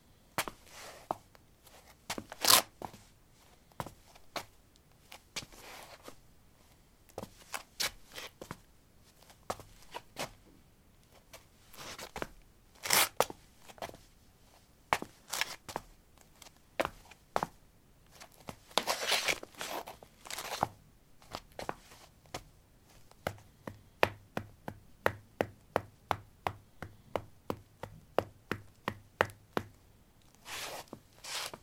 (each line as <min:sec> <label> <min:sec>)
0:00.4 Shuffling on pavement tiles 0:06.2
0:07.2 Shuffling on pavement tiles 0:10.4
0:11.1 Shuffling on pavement tiles 0:23.6
0:30.3 Shuffling on pavement tiles 0:31.6